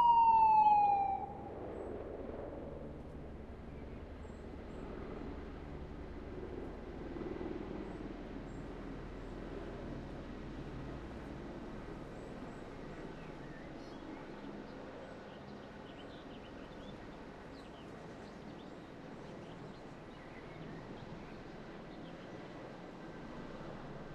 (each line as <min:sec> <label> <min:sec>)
0:00.0 synth firetruck sound 0:01.6
0:00.0 helicopter 0:24.1